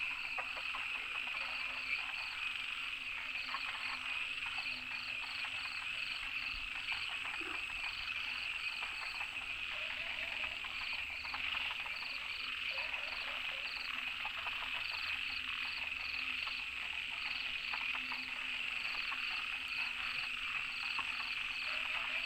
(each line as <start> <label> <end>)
0.0 Various frogs chirping 22.2